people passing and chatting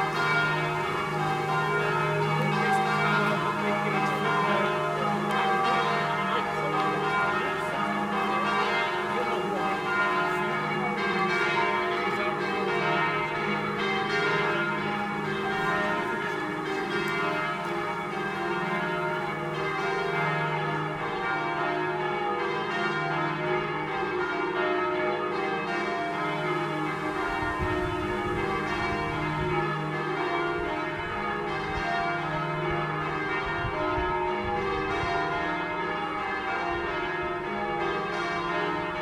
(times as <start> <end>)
0.0 21.7